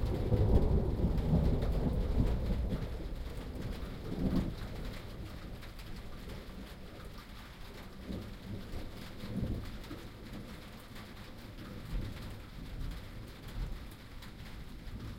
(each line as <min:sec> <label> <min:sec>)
0:00.0 thunder 0:06.5
0:00.0 rain 0:15.1